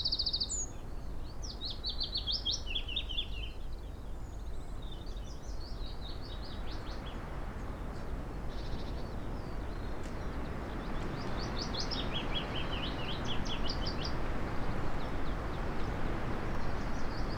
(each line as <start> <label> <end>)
4.3 willow warbler song 17.3